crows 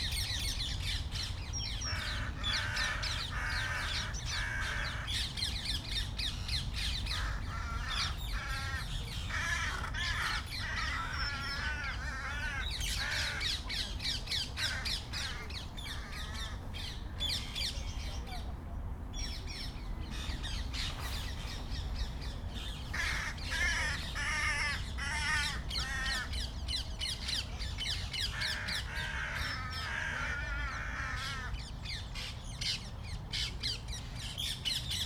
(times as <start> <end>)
1.8 5.4, 6.8 17.0, 22.6 26.5, 28.1 31.8